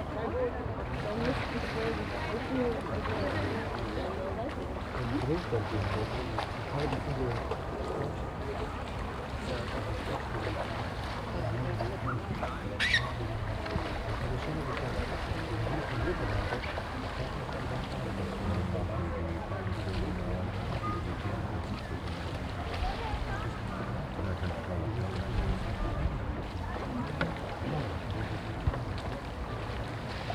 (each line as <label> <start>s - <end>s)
people talking 0.0s - 30.3s
surfer on the lake 0.0s - 30.3s
wind 0.0s - 30.3s
seagulls 12.1s - 13.4s